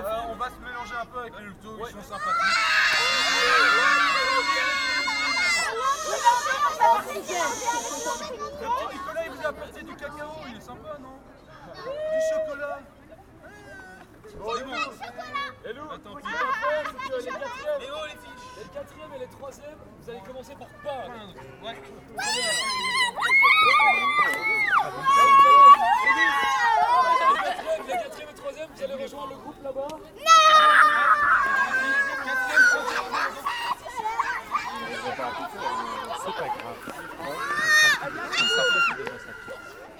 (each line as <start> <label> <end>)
2.2 they scream the rallying songs 8.2
37.2 they scream the rallying songs 39.9